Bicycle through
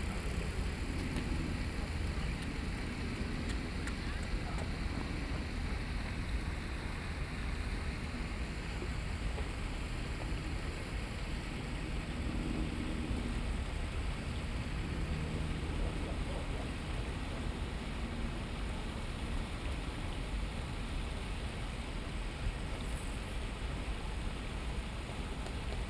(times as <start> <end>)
0.0 3.8